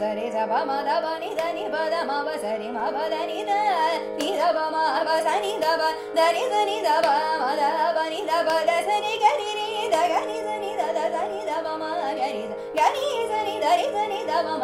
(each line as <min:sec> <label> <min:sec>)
0:00.0 Carnatic vocalist 0:14.6